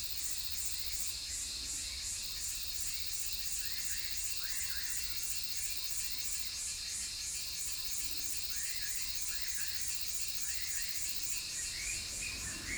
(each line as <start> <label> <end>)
0.0 Cicada sounds 12.7
11.5 Birds singing 12.7